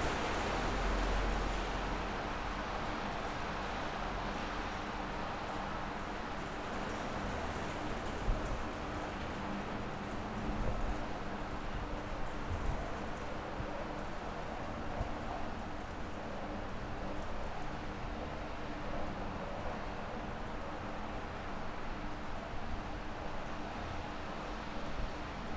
0.0s very heavy rain outside 5.4s

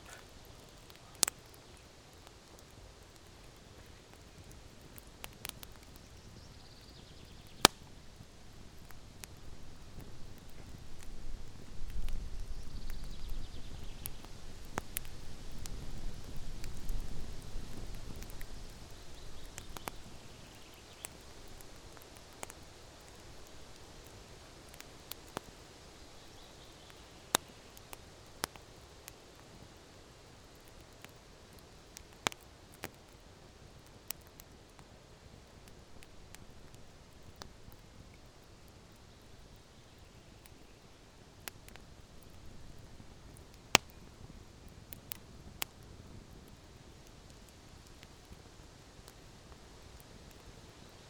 0.0s Campfire 51.0s

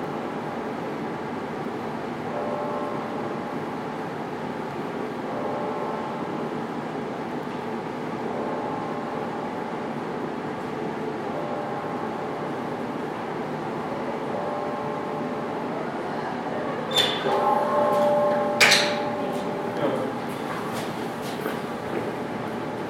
2.3s Bell tower 3.7s
5.2s Bell tower 6.6s
14.2s Bell tower 15.7s
17.2s Bell tower 20.5s

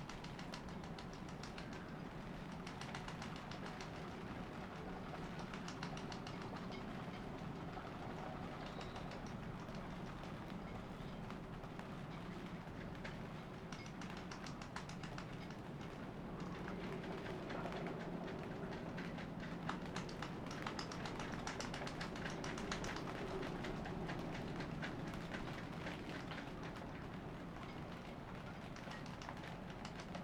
0.0s rainy morning aboard 30.2s

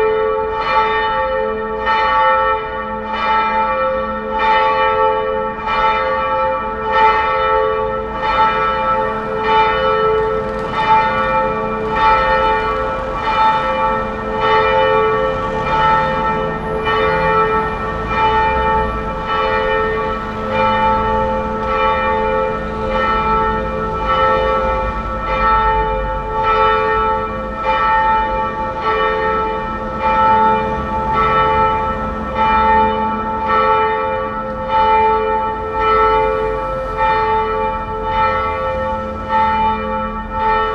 0.0s bells 40.7s

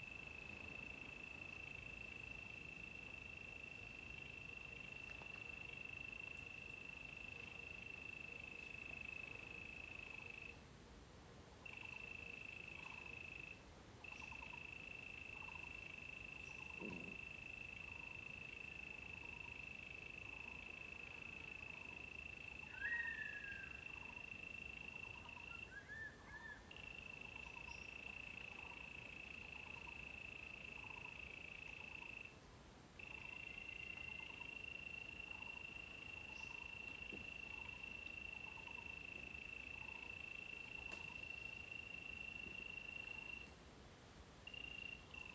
26.7s Insect sounds 32.4s
33.0s Insect sounds 43.5s
44.5s Insect sounds 45.3s

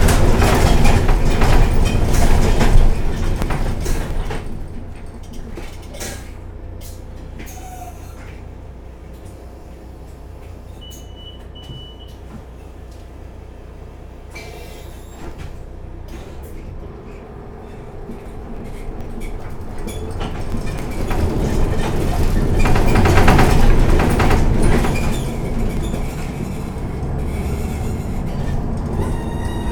0.0s rumble 10.6s
0.0s squeaky bus 29.7s
10.8s door beep 12.2s
15.1s rumble 29.7s

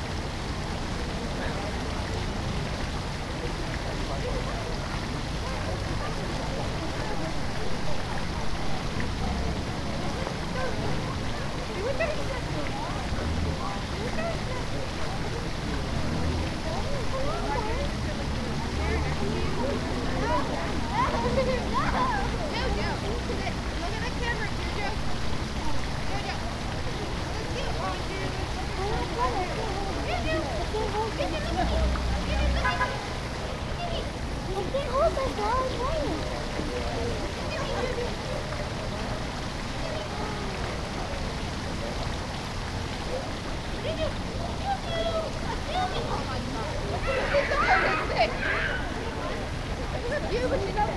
0.0s Multiple people walked by 50.9s
0.0s fountain 50.9s
0.0s group of people 50.9s

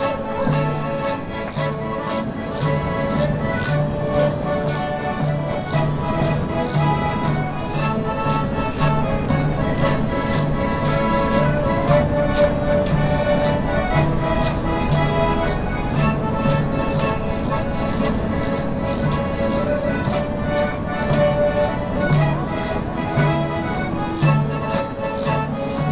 0.0s music 25.9s

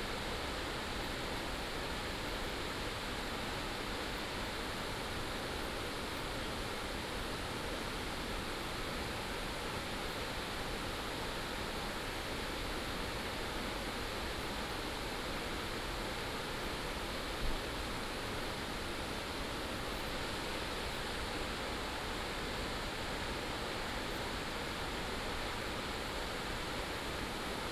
0.0s streams and waterfalls 27.7s

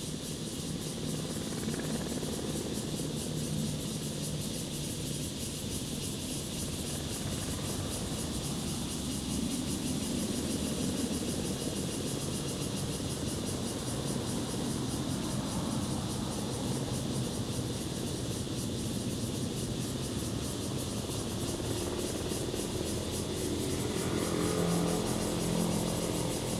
0.0s Cicadas sound 26.5s
19.6s Traffic Sound 26.5s

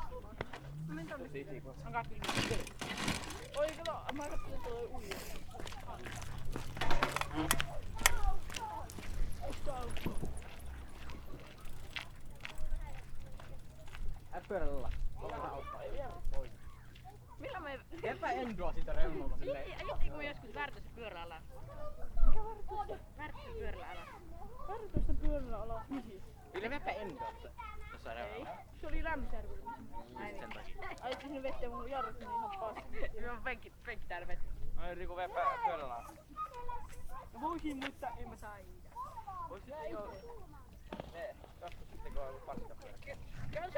0.0s People hanging around 43.7s
0.0s cycling 43.7s

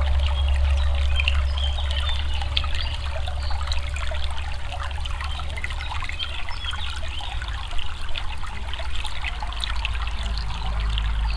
0.0s small stream 11.3s

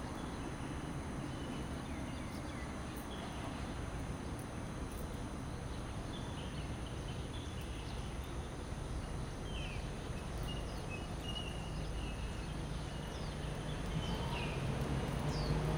13.5s traffic sound 15.7s

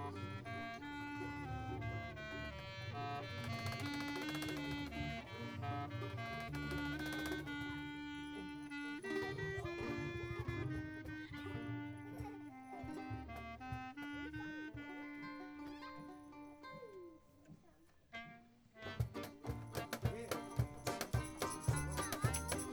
0.0s cajón player 16.1s
0.0s contrabass 16.4s
0.0s saxophone player 22.7s
18.8s contrabass 22.7s
18.8s cajón player 22.7s
20.1s singer 22.7s

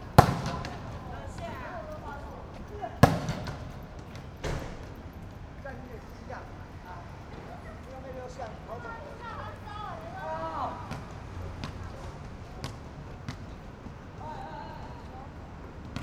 0.0s Students are playing basketball 16.0s

